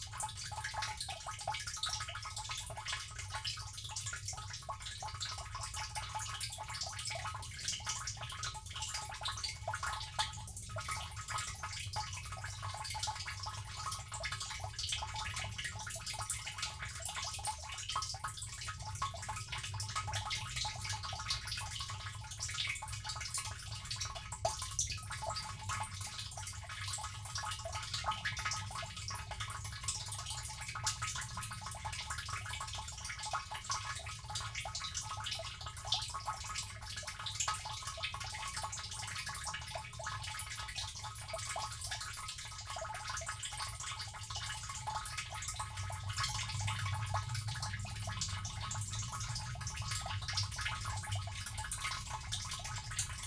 water butt filling 0.1 - 53.2

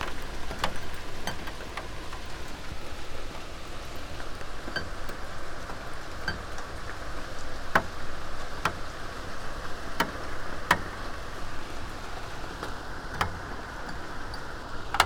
rain 0.0 - 15.0

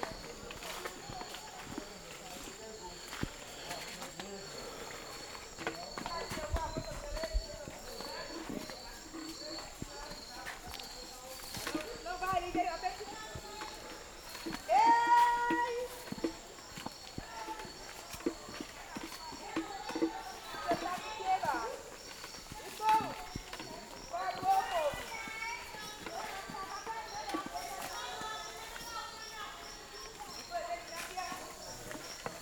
women walking to their fields 0.0 - 32.4

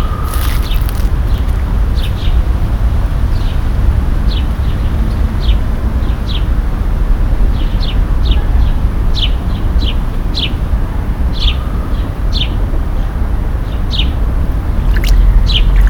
fountain 14.7 - 15.8

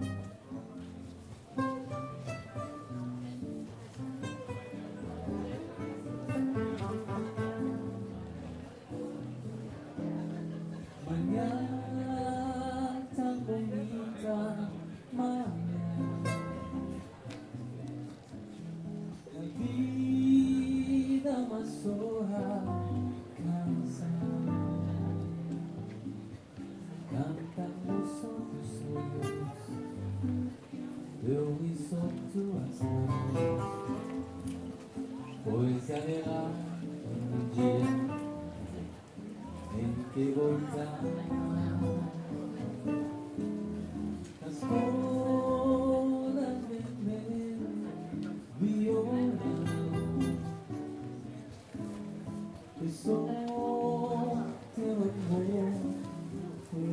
Two singers entertaining the people 39.5 - 42.4

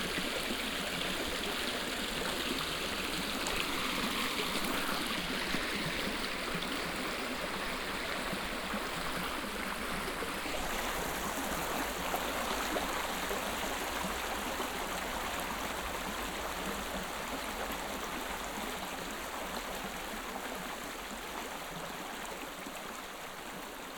small stream 0.0 - 23.9

